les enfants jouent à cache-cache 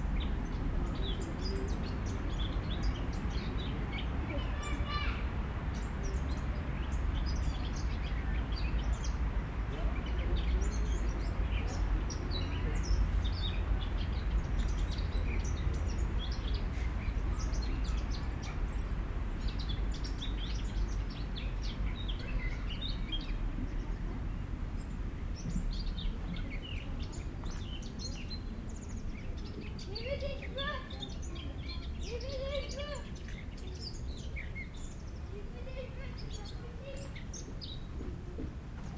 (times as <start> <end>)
1.0 9.0, 25.4 38.9